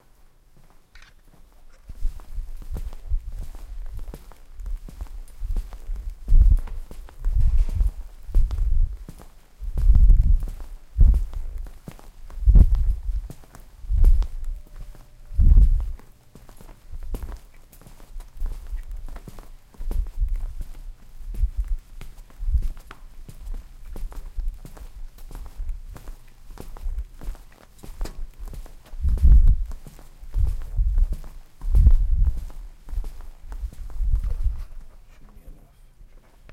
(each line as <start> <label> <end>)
0.0 footsteps 36.5